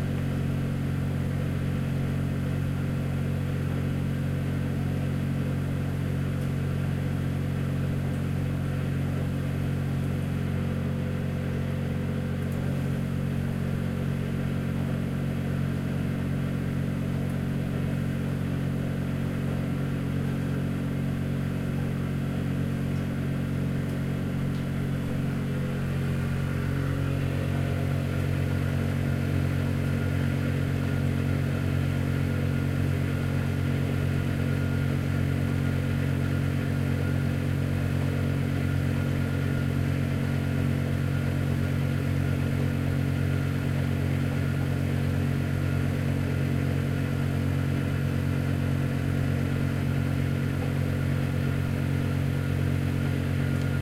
Tumble dryer running 0:00.0 - 0:53.8

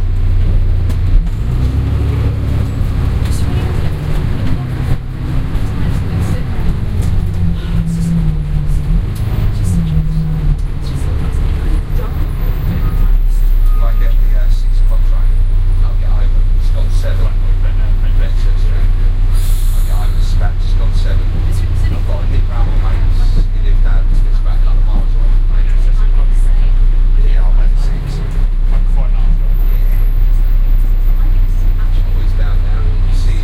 Routemaster bus journey 0:00.0 - 0:33.4

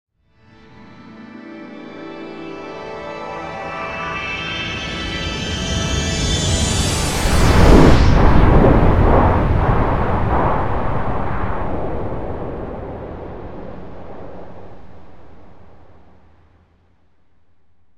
digital build-up 0:05.3 - 0:16.3
whoosh 0:05.7 - 0:16.6
explosion 0:06.6 - 0:16.6
massive missile launch 0:06.8 - 0:16.3

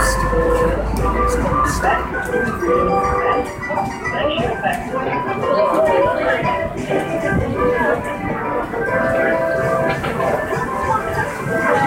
Fairground Organ 0:00.0 - 0:11.8

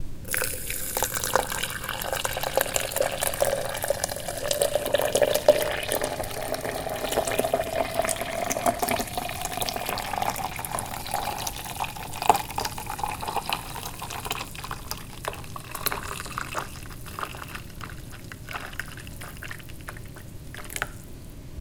cooking 0:00.0 - 0:21.4

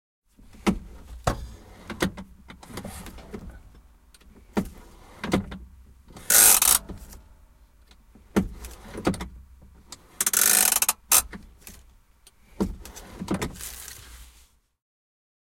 Handbrake 0:00.6 - 0:07.2
Handbrake 0:07.8 - 0:14.1
clicks, crackles and creaks 0:10.2 - 0:12.4

